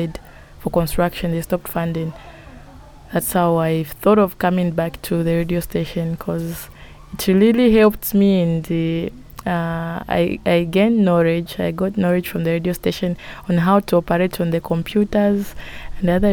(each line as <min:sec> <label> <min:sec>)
0:00.0 girls singing across the yard 0:03.6
0:00.0 children of the caretaker are playing in the yard 0:16.3